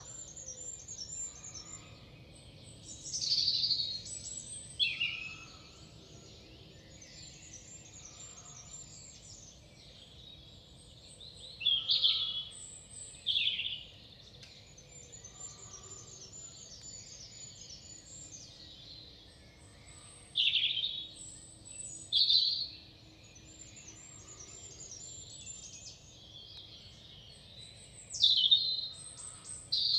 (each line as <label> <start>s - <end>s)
European Robin 0.0s - 29.9s